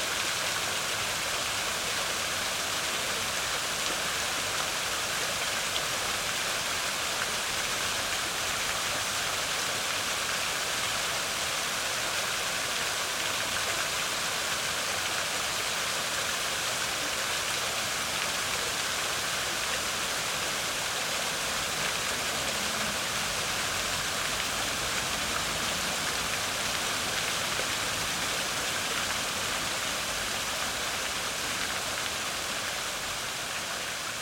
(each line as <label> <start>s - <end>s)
Fountain 0.0s - 34.2s